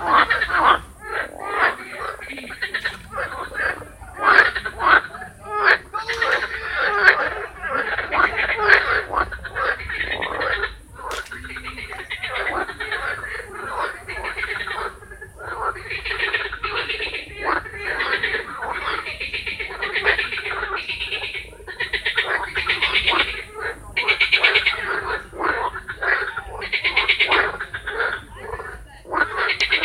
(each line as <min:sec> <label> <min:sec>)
0:00.0 concert of frogs in a pond 0:29.8